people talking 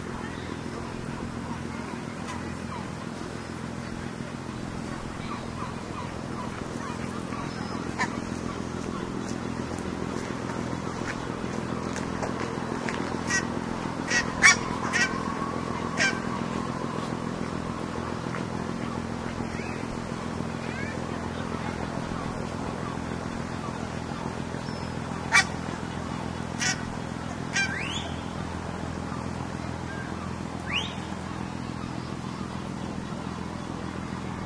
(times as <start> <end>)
0.0 26.0